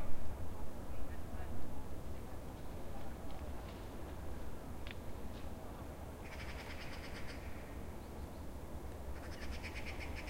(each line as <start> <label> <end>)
6.2 bird 8.5
9.2 bird 10.2